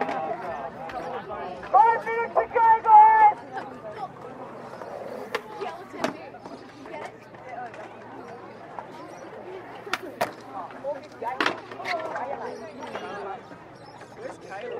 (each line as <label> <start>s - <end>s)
teenage conversations 0.0s - 14.7s
birds 3.2s - 14.7s
skate sounds 4.4s - 7.1s